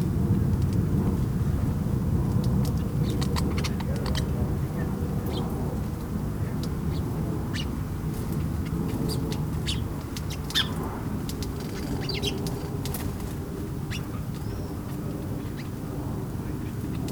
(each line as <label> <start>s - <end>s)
Distant traffic noise 0.0s - 17.1s
Passing plane 0.0s - 17.1s
Sparrows in their bush 2.4s - 17.1s